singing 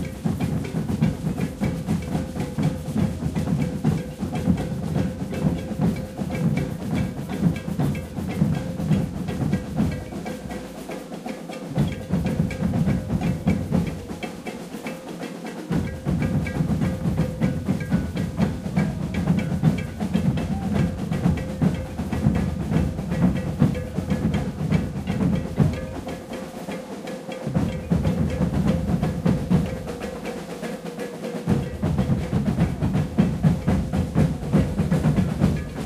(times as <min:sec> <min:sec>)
0:18.5 0:21.9